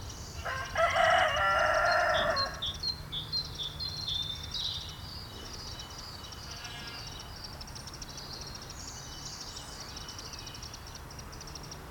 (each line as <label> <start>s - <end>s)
farmyard animals 0.4s - 2.8s
farmyard animals 6.3s - 7.2s